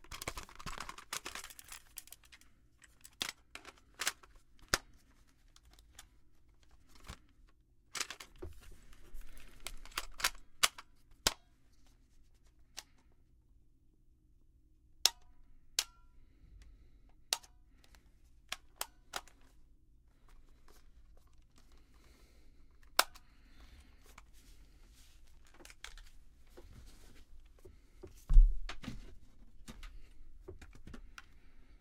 7.9s Cassette Player and Tape Fiddling 11.4s

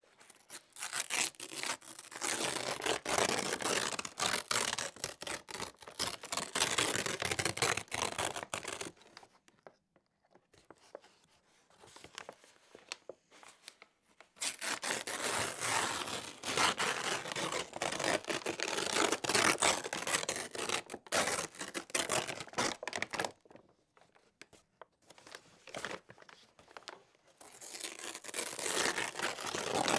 0.3s paper packaging being ripped by hands 8.9s
14.4s paper packaging being ripped by hands 23.4s
27.5s paper packaging being ripped by hands 29.9s

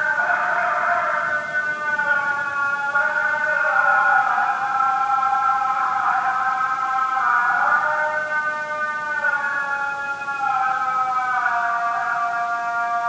0.0s morning prayer 13.0s

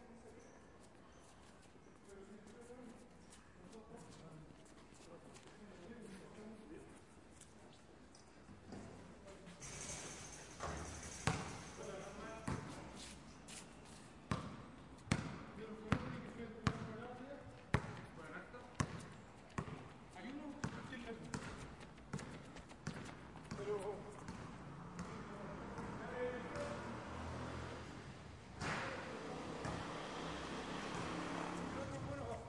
9.6s Basketball Players Playing 12.8s
17.7s Basketball Players Playing 27.6s
28.6s Basketball Players Playing 32.4s

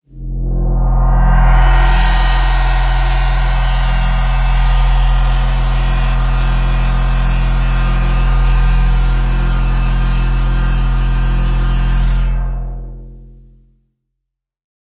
0.1s Synclavier 13.6s

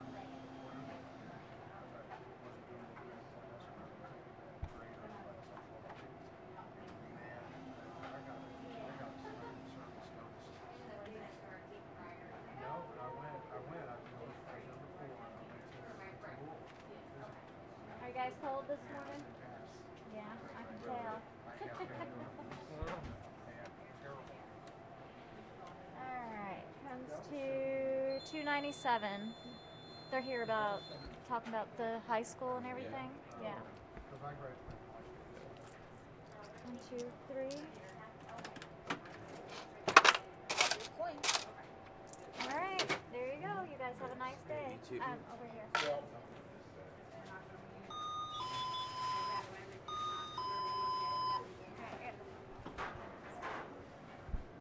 28.1s register 31.2s
39.9s coins 41.4s
47.7s register 51.5s

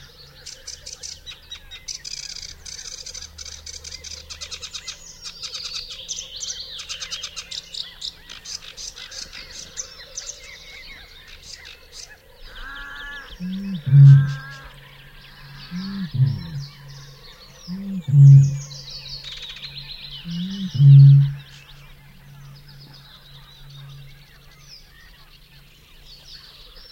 12.4s other birds having a display 25.4s
12.5s Bittern bellows in a canebrake 18.8s
20.2s Bittern bellows in a canebrake 21.6s

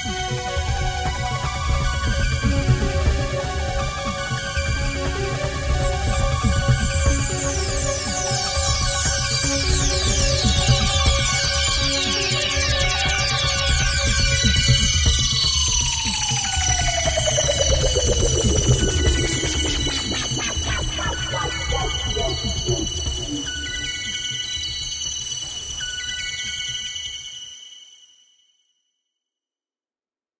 13.8s dark rhythm 25.6s

